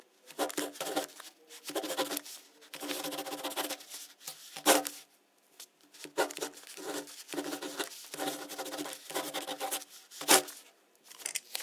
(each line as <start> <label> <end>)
0.4 Writing fast with a pen 5.0
6.0 Writing fast with a pen 10.6